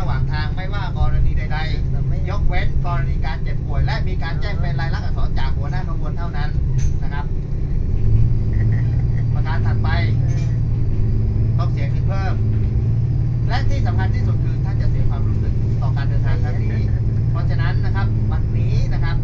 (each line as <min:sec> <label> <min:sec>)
0:00.0 conductor is explaning something 0:07.4
0:08.4 conductor is explaning something 0:10.7
0:11.4 conductor is explaning something 0:12.6
0:13.3 conductor is explaning something 0:19.2